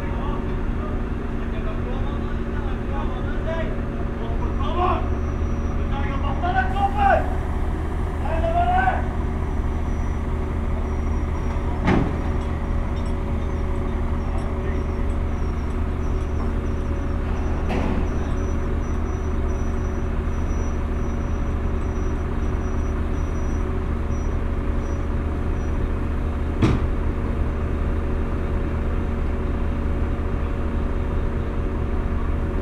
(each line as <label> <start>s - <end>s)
Workers are mounting a big crane 0.0s - 32.6s